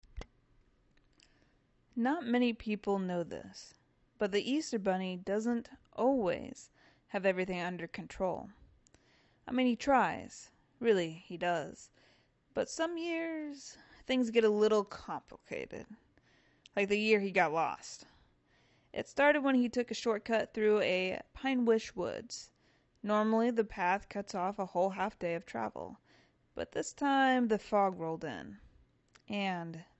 seasonal narration 2.0 - 8.6
seasonal narration 9.5 - 11.9
seasonal narration 12.6 - 16.0
seasonal narration 16.7 - 18.1
seasonal narration 19.0 - 22.4
seasonal narration 23.0 - 26.0
seasonal narration 26.6 - 28.6
seasonal narration 29.2 - 29.9

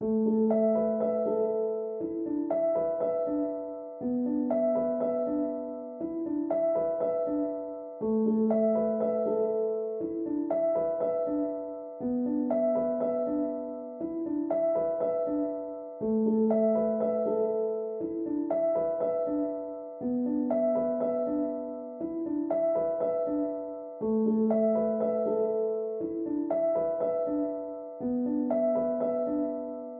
piano 0.0 - 29.9

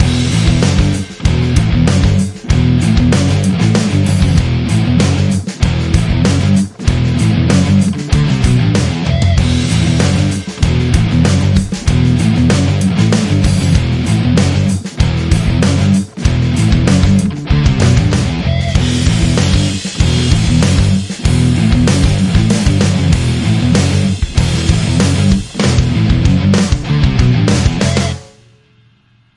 guitar 0.0 - 29.3

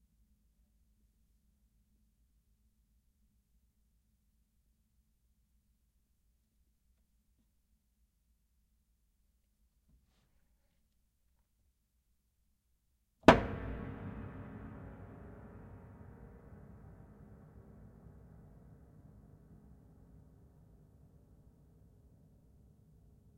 piano pedal hit 01 13.2 - 19.3

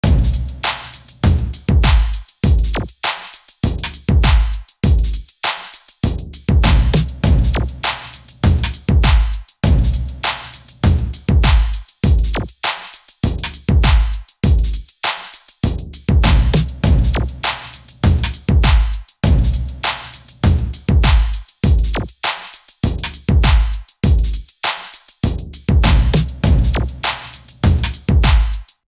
Kick Drum 0.0 - 0.6
Bass 0.0 - 2.9
Snare 0.0 - 1.2
Kick Drum 1.2 - 3.0
Snare 1.8 - 3.6
Kick Drum 3.6 - 5.3
Bass 3.7 - 5.2
Snare 5.4 - 6.0
Kick Drum 6.0 - 7.8
Bass 6.1 - 12.5
Snare 6.6 - 7.2
Snare 7.8 - 9.4
Kick Drum 8.4 - 10.2
Snare 10.2 - 10.8
Kick Drum 10.8 - 12.6
Snare 11.4 - 13.1
Kick Drum 13.2 - 14.9
Bass 13.3 - 14.8
Snare 15.0 - 15.6
Kick Drum 15.6 - 17.4
Bass 15.7 - 22.1
Snare 16.2 - 19.0
Kick Drum 18.0 - 19.8
Snare 19.8 - 20.4
Kick Drum 20.4 - 22.2
Snare 21.0 - 22.7
Kick Drum 22.8 - 24.5
Bass 22.9 - 24.4
Snare 24.6 - 25.2
Kick Drum 25.2 - 27.0
Bass 25.3 - 28.6
Snare 25.8 - 28.8
Kick Drum 27.6 - 28.8

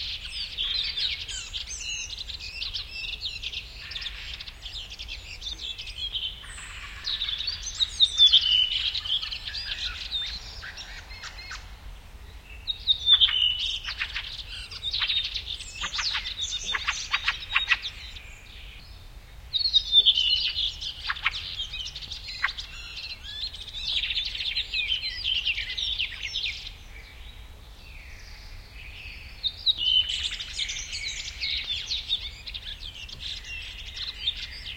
a redwing, singing in the forest 0.0 - 34.7
other birds in the bg 0.0 - 34.7
a woodcock 15.8 - 18.0

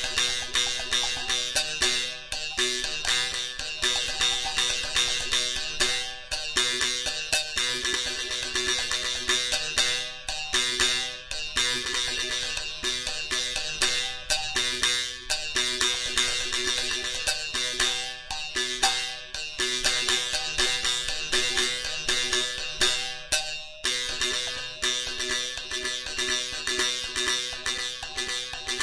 Filipino bamboo buzz sticks 0.0 - 9.6

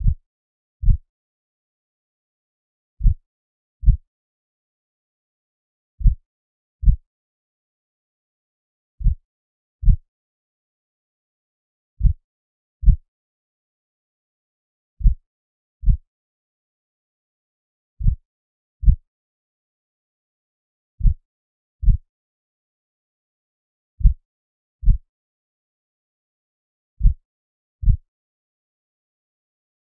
synthesised heartbeat 0.0 - 0.2
synthesised heartbeat 3.0 - 3.2
synthesised heartbeat 6.0 - 6.2
synthesised heartbeat 9.0 - 9.2

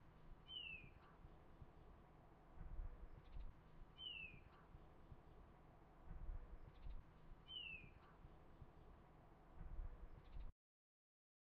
small bird singing 0.5 - 1.0
small bird singing 4.0 - 4.5
small bird singing 7.5 - 8.0

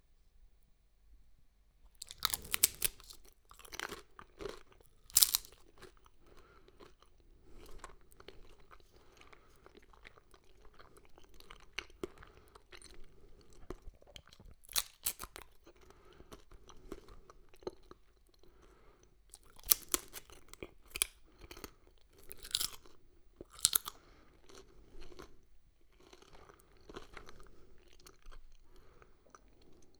Crispy tortilla chewing 1.9 - 29.9

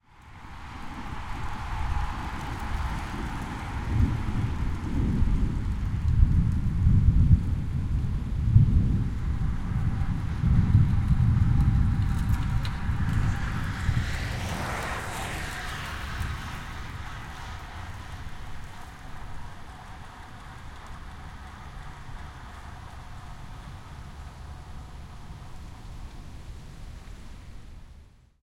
Single bike passes 0.4 - 28.0
thunder 2.8 - 19.5

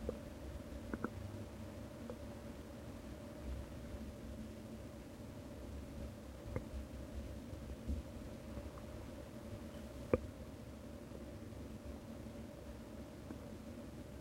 Quiet bubbling and groaning on an empty stomach 0.0 - 14.2

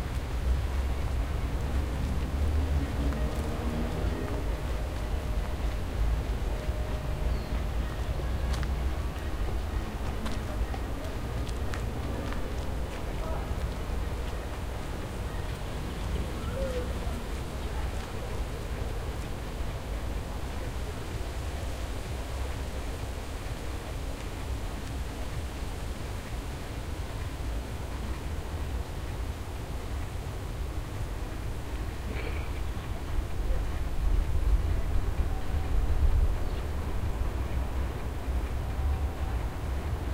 Noise of leaves 0.0 - 40.1
Rumble of city 0.0 - 40.1
Birds 13.3 - 19.9

